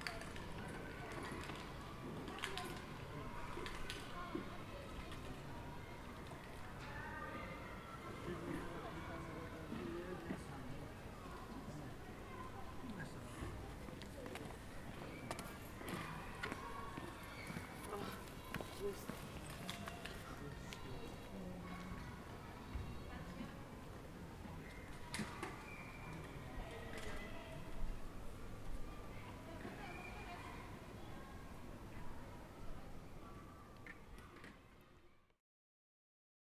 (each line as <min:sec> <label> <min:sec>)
0:00.0 People chatting and passing by 0:35.2